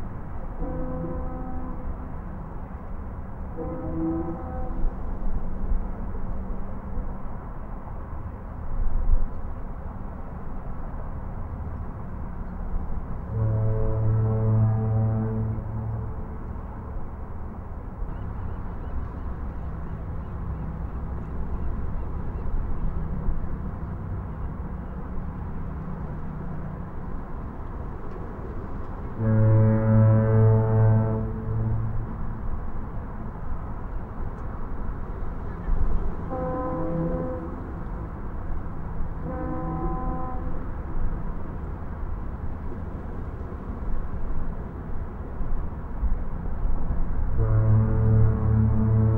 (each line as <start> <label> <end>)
0.4 fog horn sounds 2.4
3.4 fog horn sounds 6.0
13.2 fog horn sounds 19.4
29.1 fog horn sounds 34.6
35.7 fog horn sounds 41.1
47.2 fog horn sounds 49.1